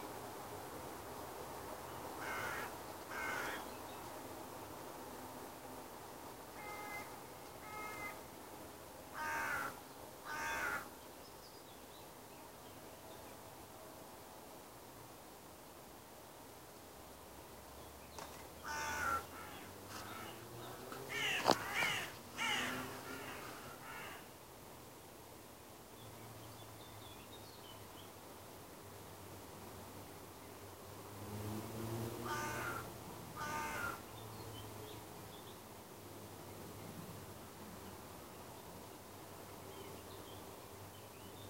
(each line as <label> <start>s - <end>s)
river 0.0s - 41.4s
birds 1.9s - 4.2s
birds 9.1s - 13.4s
birds 17.8s - 24.3s
birds 32.3s - 35.7s